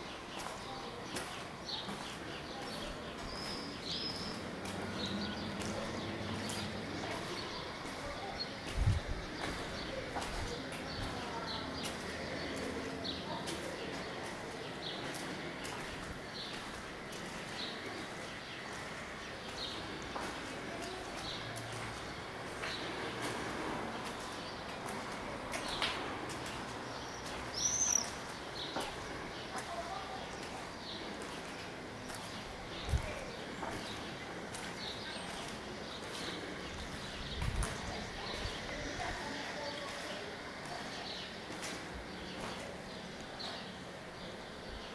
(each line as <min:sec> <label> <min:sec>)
0:00.0 steps 0:43.8